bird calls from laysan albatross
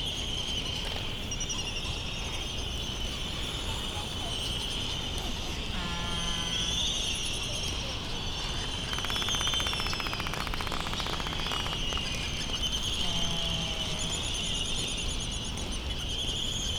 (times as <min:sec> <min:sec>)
0:03.6 0:07.4, 0:08.6 0:14.8